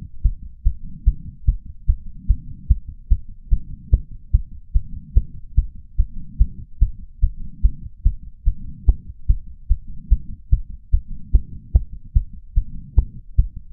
heartbeat 0.0 - 13.7

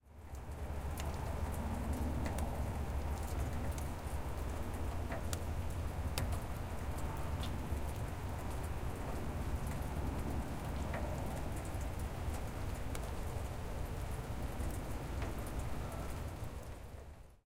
Rain onto grass 0.0 - 17.4

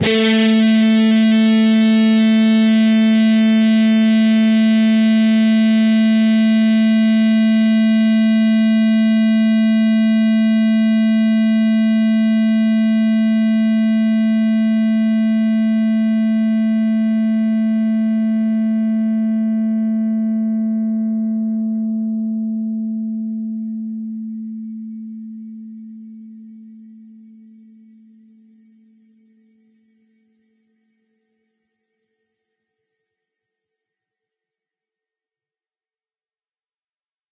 distorted guitar 0.0 - 11.3

